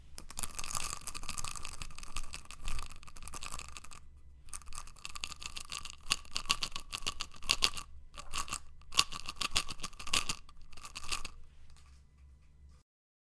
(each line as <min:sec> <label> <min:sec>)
0:00.2 Pills shaking in an open bottle 0:11.9